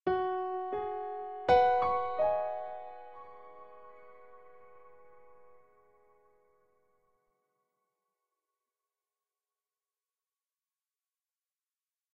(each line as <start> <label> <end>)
0.0 Piano 7.0